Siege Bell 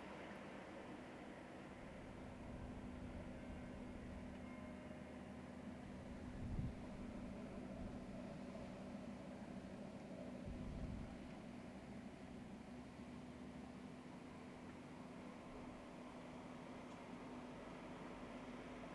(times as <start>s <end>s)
3.4s 5.6s